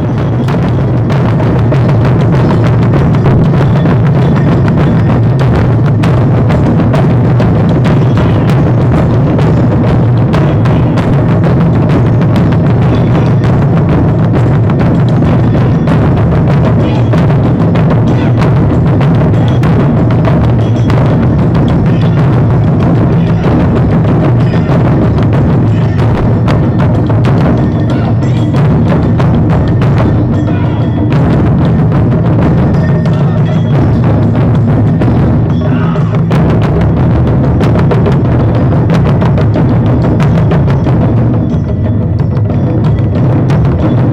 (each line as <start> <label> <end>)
0.0 Taikos 44.1
0.0 street musicians 44.1
7.9 voices 8.9
10.2 voices 11.2
12.2 voices 13.8
16.6 voices 19.8
21.6 voices 26.8
25.6 Shout 26.2
27.6 voices 28.7
27.9 Shout 28.4
30.1 voices 31.1
30.4 Shout 31.0
32.7 voices 34.0
35.5 voices 36.3
35.6 Shout 36.3